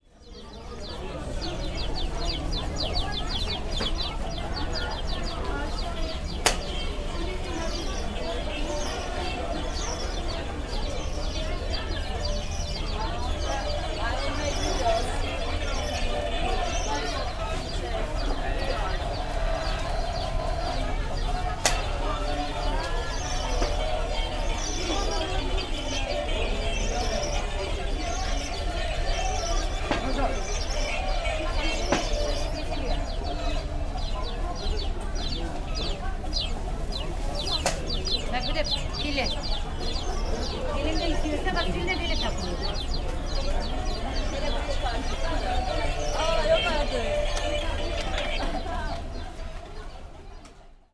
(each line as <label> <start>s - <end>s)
chirping toys 0.2s - 50.9s